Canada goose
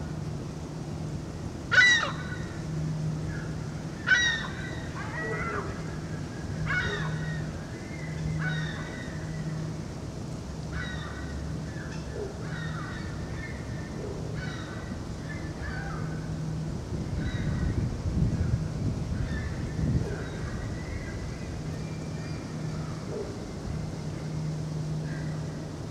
1.7 2.4

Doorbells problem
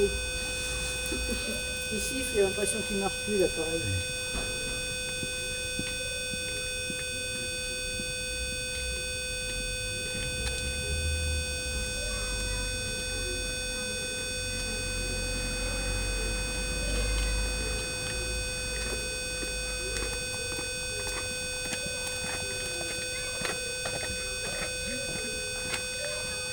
0.0 7.0

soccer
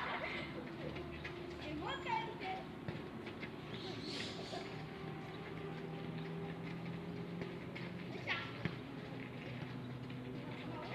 2.4 4.5, 7.4 10.9

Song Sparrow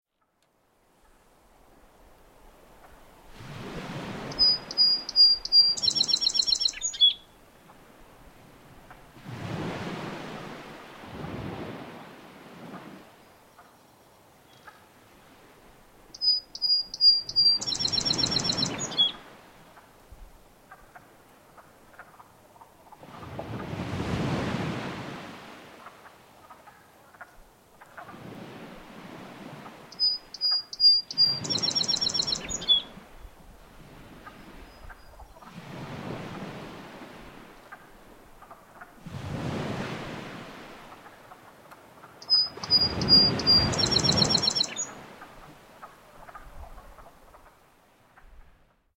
4.2 7.4, 16.1 19.3, 29.9 33.0, 34.3 35.5, 42.1 45.5

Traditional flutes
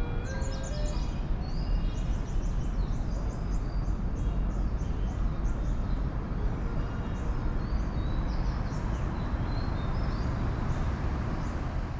0.0 1.6

